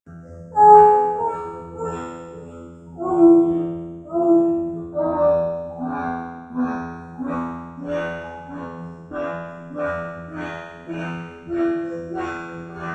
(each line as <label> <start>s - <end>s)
Female voice robotized 0.6s - 2.2s
Female voice robotized 2.9s - 12.9s